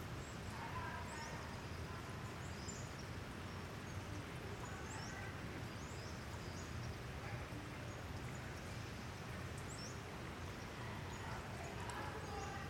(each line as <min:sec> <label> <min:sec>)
0:00.0 hikers 0:12.6